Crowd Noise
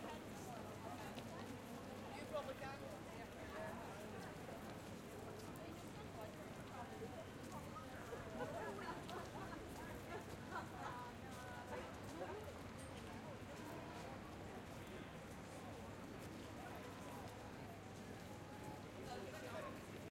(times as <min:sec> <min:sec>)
0:00.0 0:00.9